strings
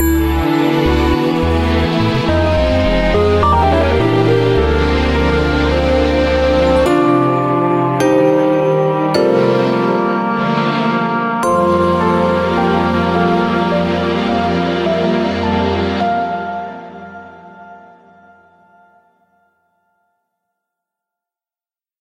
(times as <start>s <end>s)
0.0s 10.9s